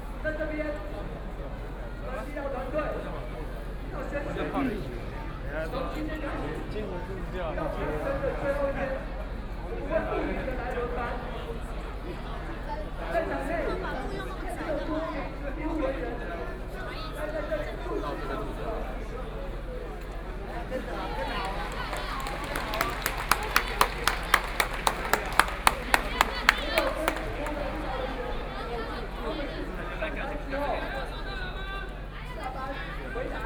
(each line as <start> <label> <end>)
20.8 Protest 29.7